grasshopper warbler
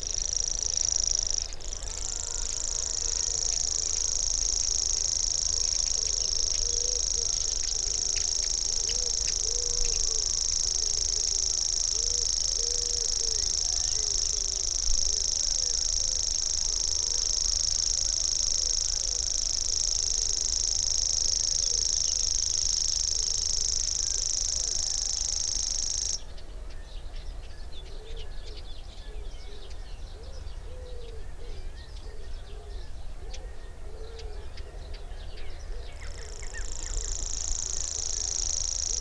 0:00.0 0:26.2, 0:35.8 0:39.0

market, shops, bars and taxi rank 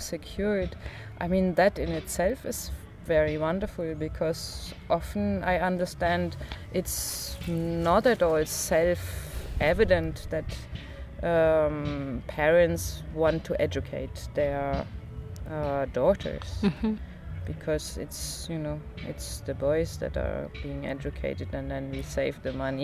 0:01.2 0:16.6

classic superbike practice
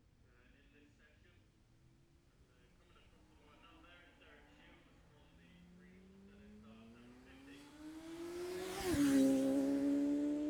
0:02.7 0:10.4

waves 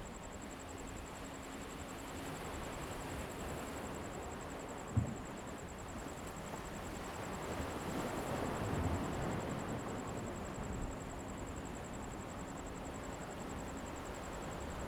0:04.8 0:12.3

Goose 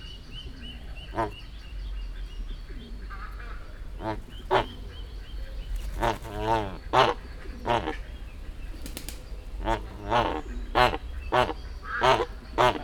0:01.0 0:01.4, 0:03.1 0:05.1, 0:05.7 0:08.1, 0:09.6 0:12.8

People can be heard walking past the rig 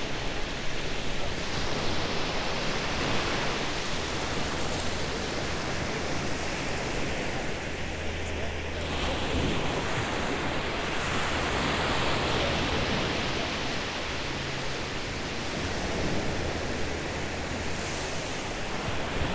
0:04.4 0:19.3

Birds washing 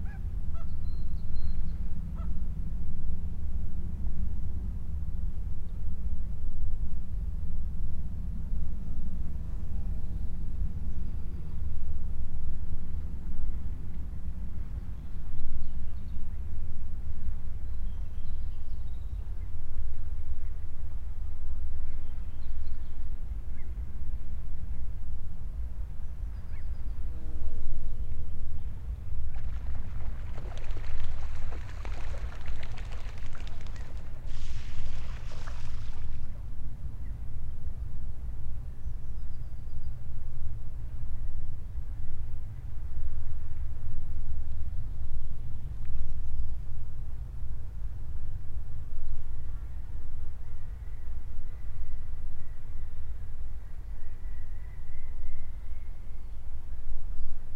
0:29.3 0:36.2

